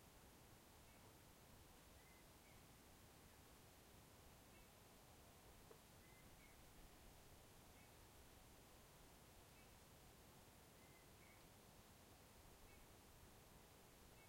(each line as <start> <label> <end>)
0.0 wind 14.2
4.5 birds 4.8
5.4 birds 6.8
10.7 birds 11.6
12.6 birds 13.0
14.0 birds 14.2